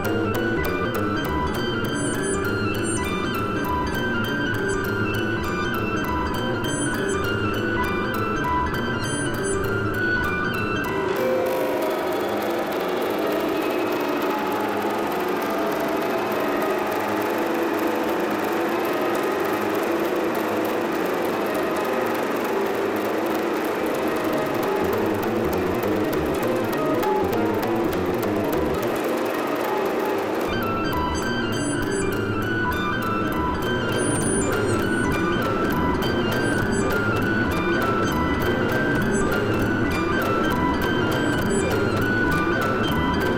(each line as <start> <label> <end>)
11.2 Driving rhythm 43.3